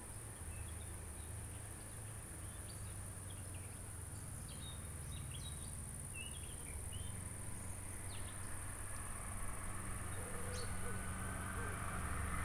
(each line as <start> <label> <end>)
0.0 insectes 12.4